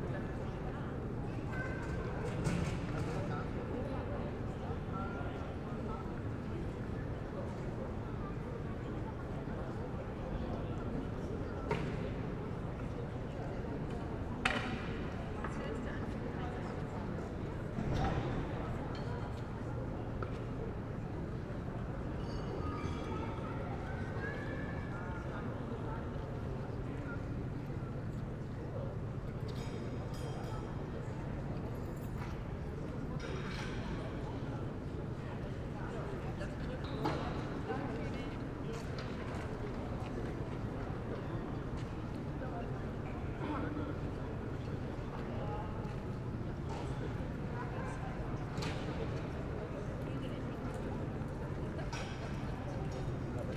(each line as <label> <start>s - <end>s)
sounds of the restaurant 0.0s - 53.5s